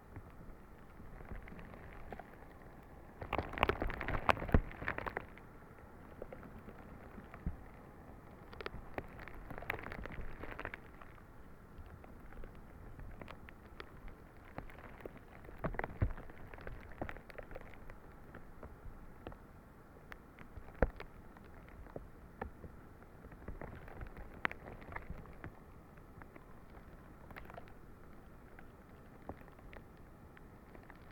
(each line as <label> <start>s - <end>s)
broken ice on the lake 0.0s - 31.1s